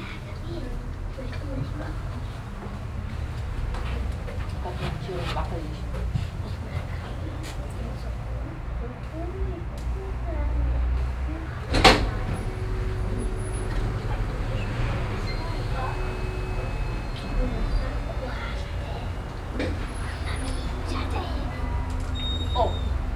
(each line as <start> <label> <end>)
0.0 steps in the hallway 23.1
0.0 whispering voices of waiting people 23.1